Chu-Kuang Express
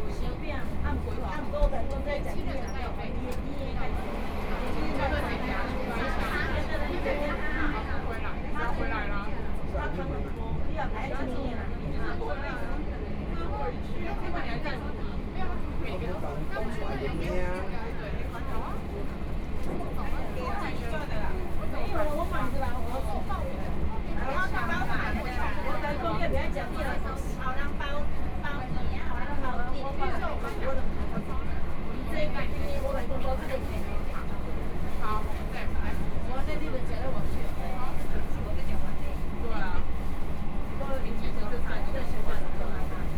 3.4s 8.8s

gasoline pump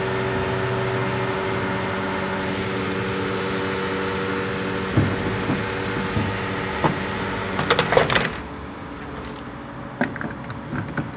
3.3s 11.1s

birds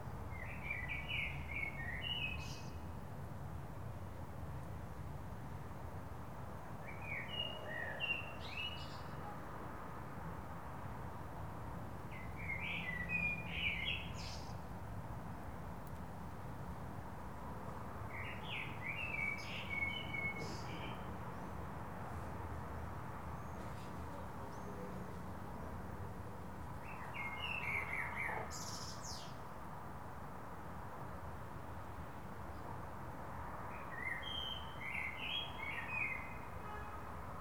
26.8s 29.4s

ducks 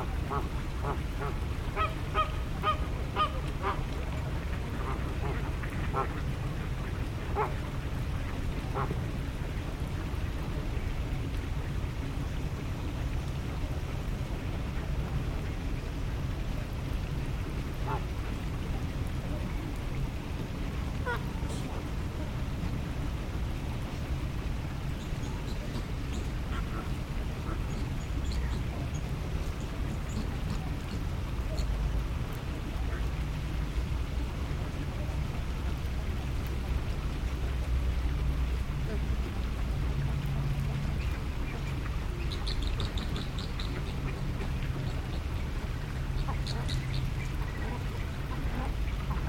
0.0s 9.1s, 17.8s 18.4s, 21.0s 22.4s, 25.0s 31.8s, 38.8s 39.4s, 40.1s 49.2s

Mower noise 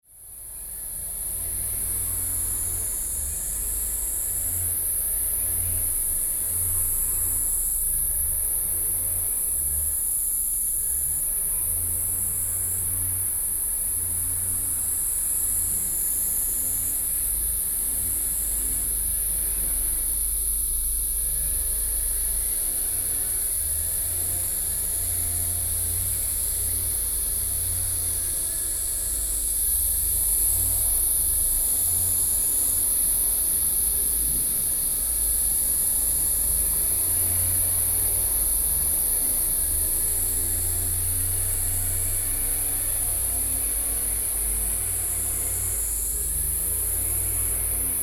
36.8s 48.0s

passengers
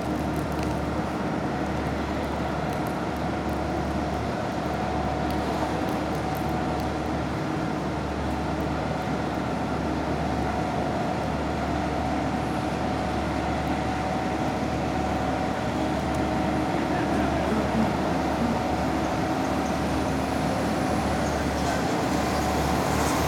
15.2s 23.2s

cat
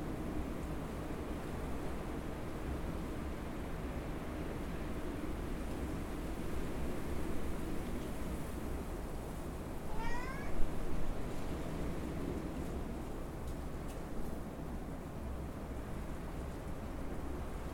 9.8s 10.7s

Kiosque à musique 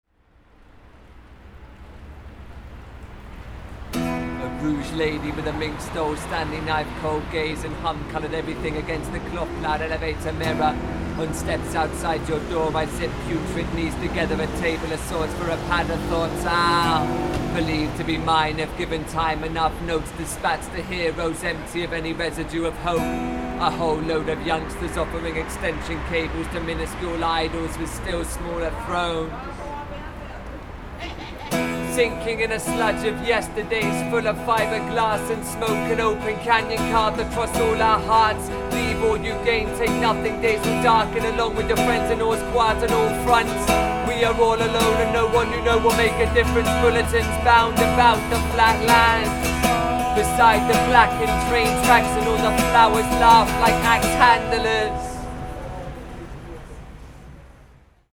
31.0s 56.9s

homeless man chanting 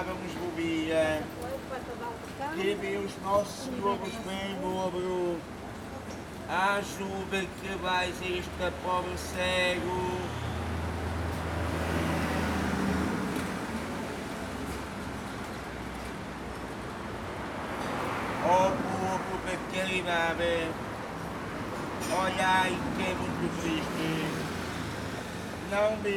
0.0s 1.4s, 2.5s 5.5s, 6.5s 10.5s, 18.4s 20.8s, 22.0s 24.6s, 25.6s 26.1s

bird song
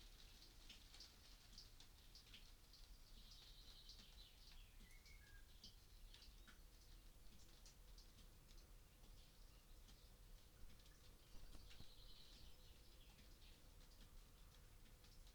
2.9s 7.5s, 8.8s 14.7s

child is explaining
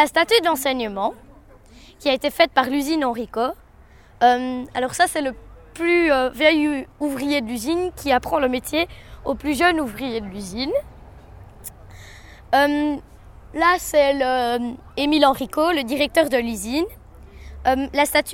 0.0s 1.1s, 2.0s 3.6s, 4.2s 10.9s, 12.5s 17.0s, 17.6s 18.3s

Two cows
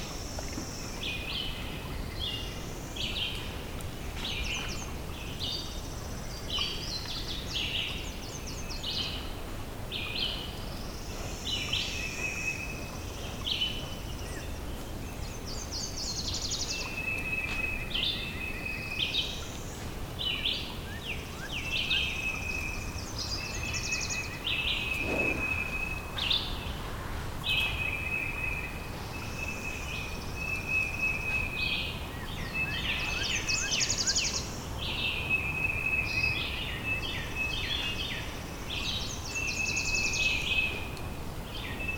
24.3s 27.7s

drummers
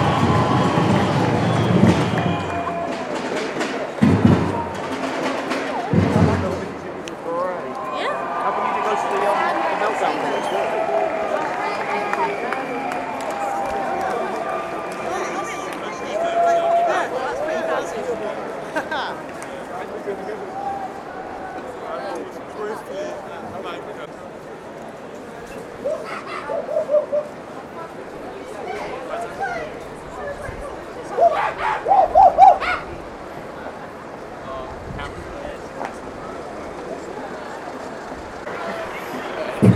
0.0s 16.5s, 38.4s 39.7s

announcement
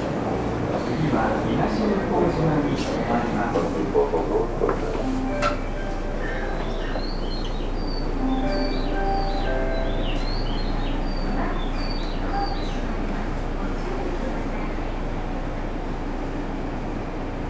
1.2s 14.1s

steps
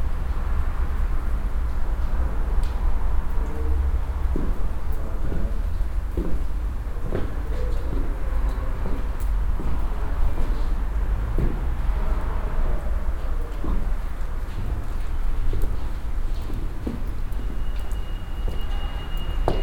4.2s 12.0s, 13.4s 19.6s

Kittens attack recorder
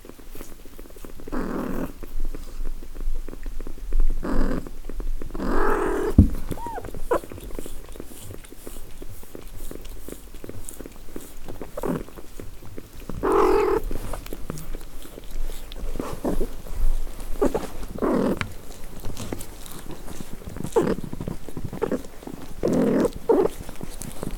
5.7s 7.0s

